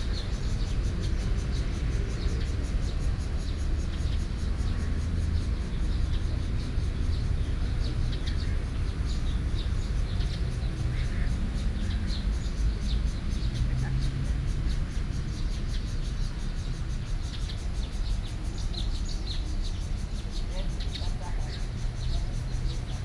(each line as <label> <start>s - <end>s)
Birds sound 0.0s - 23.0s